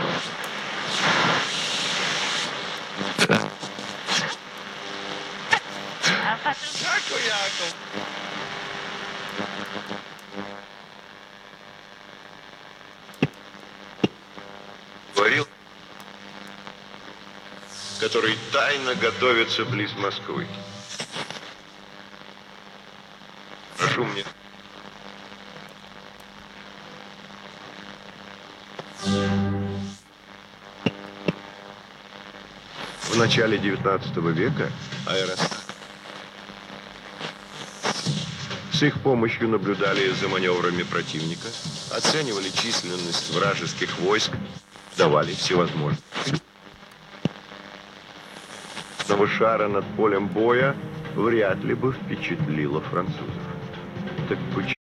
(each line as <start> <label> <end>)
0.0 white noise 51.8
0.0 Old Radio Tuning Wave 54.8